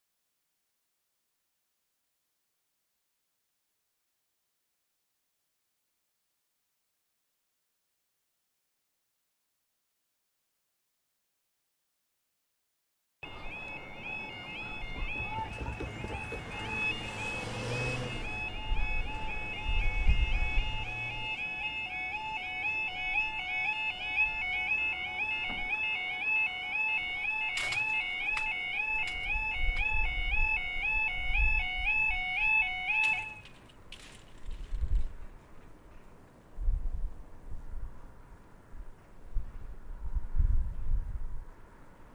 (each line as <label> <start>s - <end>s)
passenger train passes 13.2s - 27.2s
voices 13.2s - 28.8s
Barrier closing alarm 13.2s - 33.5s
lorries 13.2s - 36.4s
TRAFFIC 13.2s - 42.1s
buses 13.2s - 42.1s
wind 13.2s - 42.1s